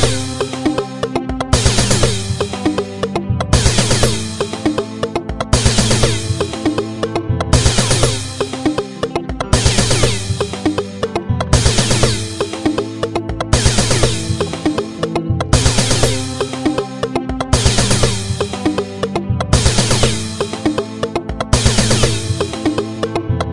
bass 0:00.0 - 0:23.5
beat 0:00.0 - 0:23.5

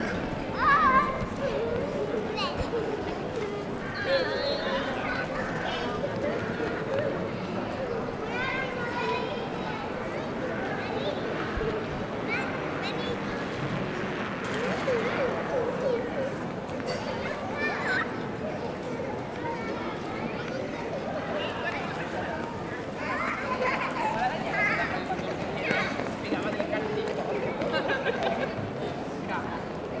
kids running around 0:00.0 - 0:30.0
people is walking around 0:00.0 - 0:30.0

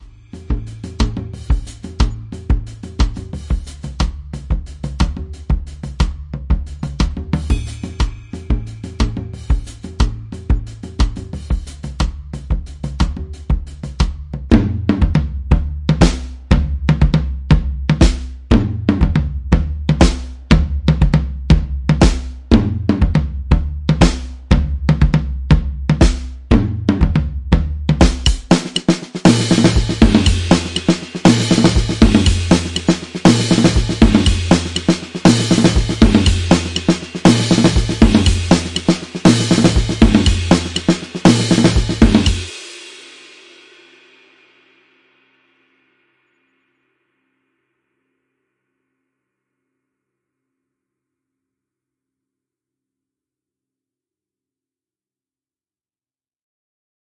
cymbals 0:00.0 - 0:06.0
cymbals 0:06.7 - 0:12.0
cymbals 0:28.0 - 0:46.2

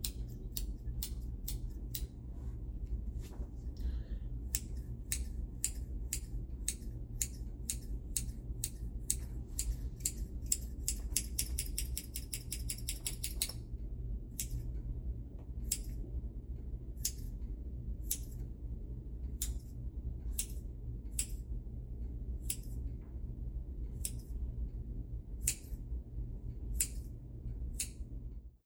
Tiny scissor snips 0:04.5 - 0:13.6
Tiny scissor snips 0:18.1 - 0:18.4
Tiny scissor snips 0:22.4 - 0:22.7
Tiny scissor snips 0:26.8 - 0:27.1

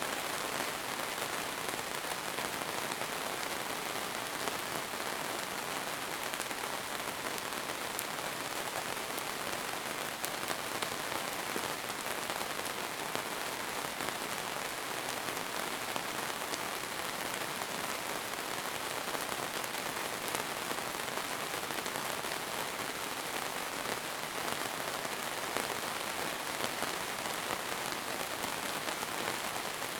rain 0:00.0 - 0:29.9

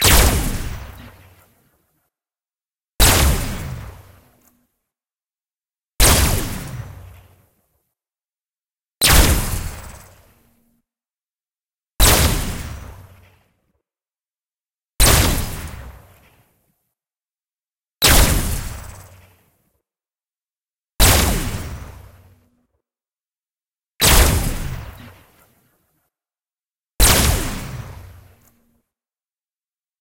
sci-fi gun noise 0:00.0 - 0:01.7
sci-fi gun noise 0:03.0 - 0:04.5
sci-fi gun noise 0:06.0 - 0:07.4
sci-fi gun noise 0:09.0 - 0:10.6
sci-fi gun noise 0:12.0 - 0:13.4
sci-fi gun noise 0:15.0 - 0:16.4
sci-fi gun noise 0:18.0 - 0:19.5
sci-fi gun noise 0:21.0 - 0:22.5
sci-fi gun noise 0:24.0 - 0:25.6
sci-fi gun noise 0:27.0 - 0:28.6

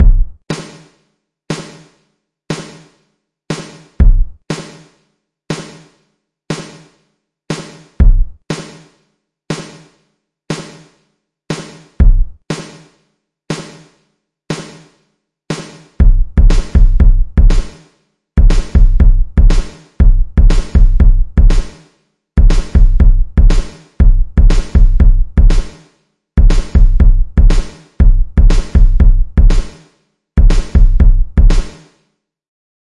Spacious drum pattern 0:00.0 - 0:00.9
Spacious drum pattern 0:01.5 - 0:10.9
Spacious drum pattern 0:11.5 - 0:12.9
Spacious drum pattern 0:13.5 - 0:13.9
Spacious drum pattern 0:14.5 - 0:14.9
Spacious drum pattern 0:15.5 - 0:21.8
Spacious drum pattern 0:22.4 - 0:31.9

